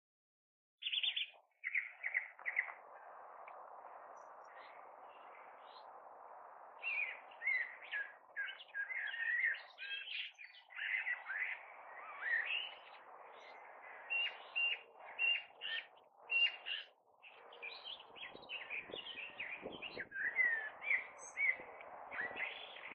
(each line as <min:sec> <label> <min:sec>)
0:00.8 Birds 0:22.9